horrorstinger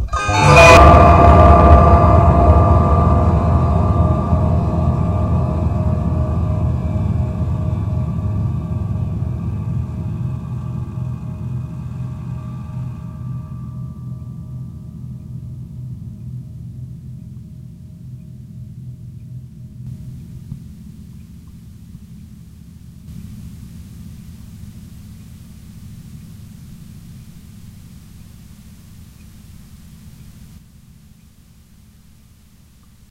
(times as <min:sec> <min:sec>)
0:00.0 0:17.8